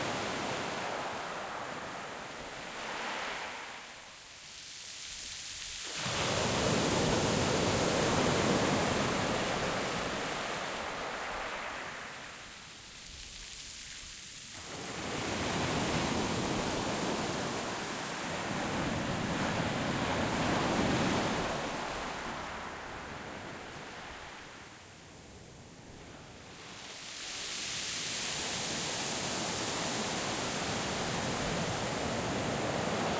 Waves (moderate) against pebble beach 0:00.0 - 0:33.1

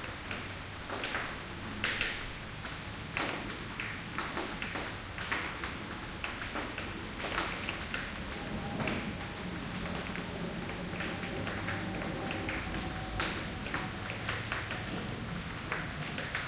light rain 0:00.0 - 0:16.4
thunder 0:05.4 - 0:16.4

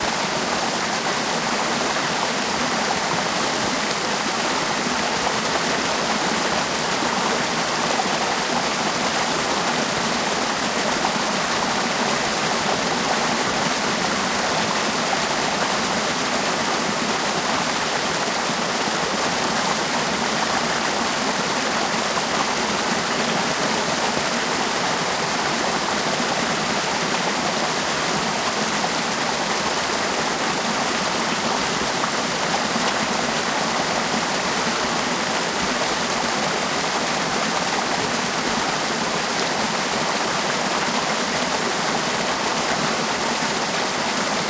Creek 0:00.0 - 0:44.4

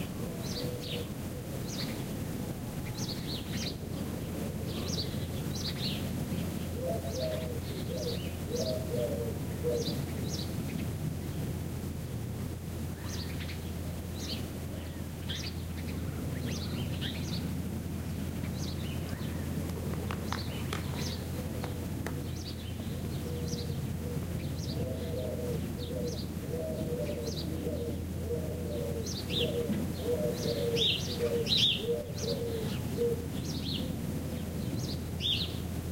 birds 0:00.0 - 0:35.9

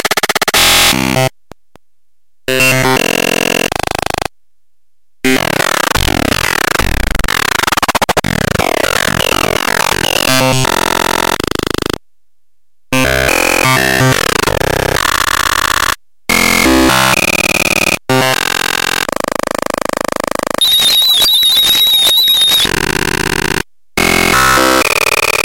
glitch 0:20.6 - 0:22.9

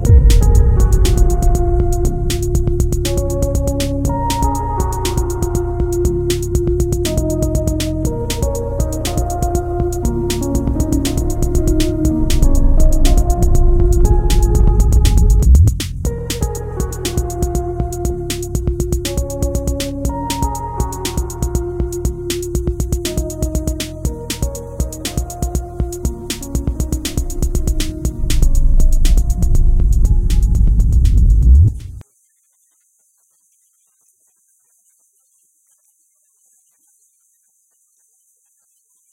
Cinematic Boom 0:00.0 - 0:04.6
bass line 0:00.0 - 0:32.0
Cinematic Boom 0:11.2 - 0:16.2

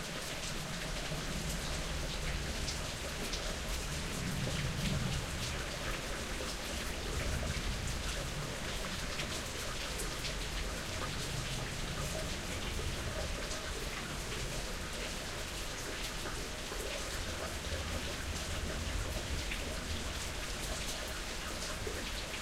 Rain Draining into concrete 0:00.0 - 0:22.4

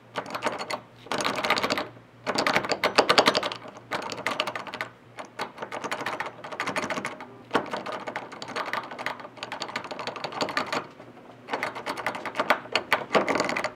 door handle being jiggled at various speeds 0:00.2 - 0:10.9
door handle being jiggled at various speeds 0:11.5 - 0:13.7

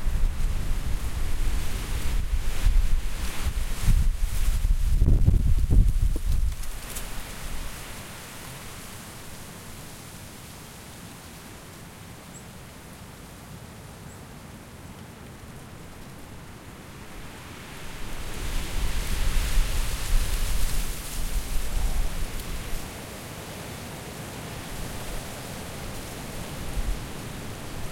wind gusts 0:00.0 - 0:08.2
wind gusts 0:16.8 - 0:23.6
wind gusts 0:24.4 - 0:27.9

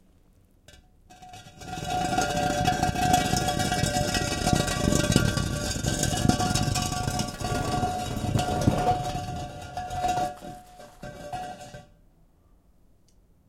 Dragging different kinds of stones, concrete blocks 0:01.2 - 0:11.9

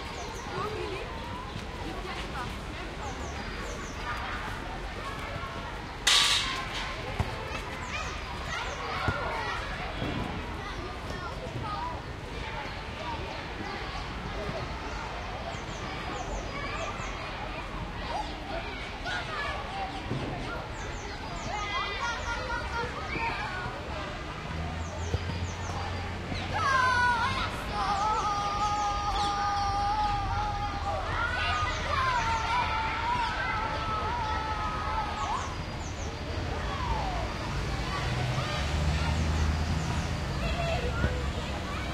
children playing 0:00.0 - 0:41.9
distant traffic 0:00.0 - 0:41.9
nearby tram passing with rumble 0:33.9 - 0:41.9

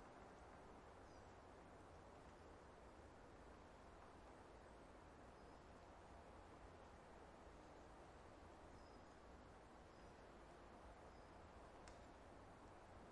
leaves 0:00.0 - 0:13.1
birds 0:08.6 - 0:12.2

